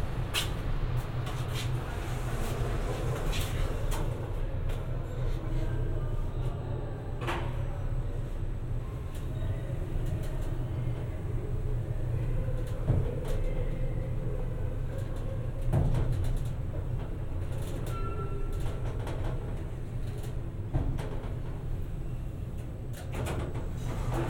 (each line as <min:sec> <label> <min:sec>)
0:00.0 Traveling by elevator 0:24.2